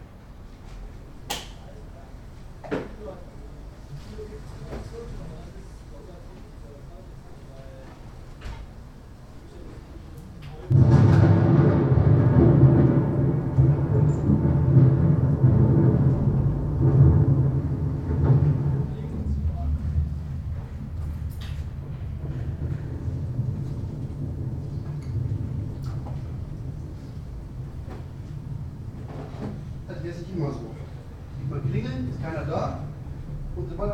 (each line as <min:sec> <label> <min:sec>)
0:00.0 heavy thunderstorm comes out of the film studio's open window 0:33.9